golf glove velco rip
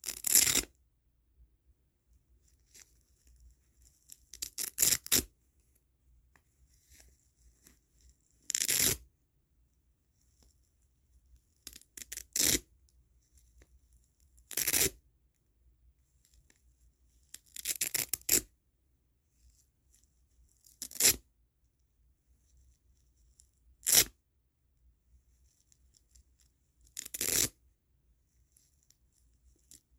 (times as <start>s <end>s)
27.0s 27.5s